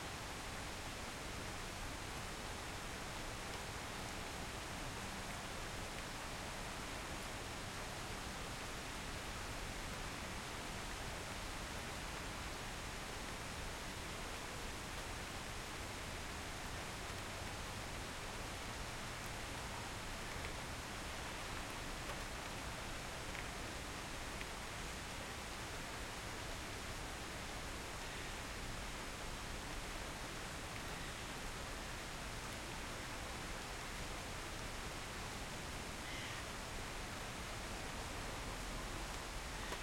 light rain 0:00.0 - 0:39.8

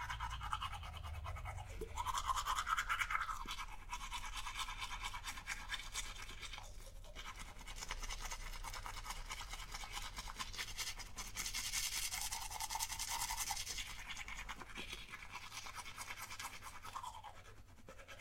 brushing the teeth 0:00.0 - 0:18.2

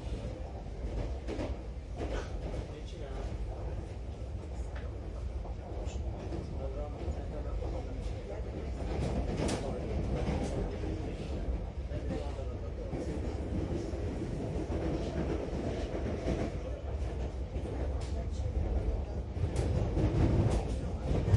Subway 0:00.0 - 0:21.3

